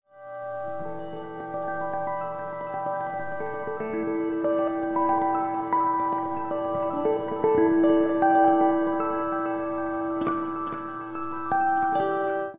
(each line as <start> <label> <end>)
0.1 guitar 12.5